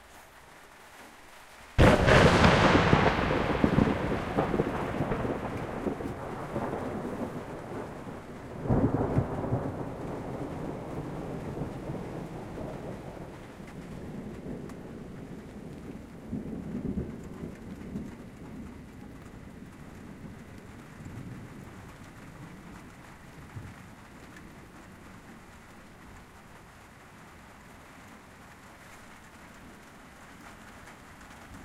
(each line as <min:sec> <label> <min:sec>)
0:00.0 rain noise on a tin roof 0:31.6
0:01.8 Huge Thunderclap 0:26.6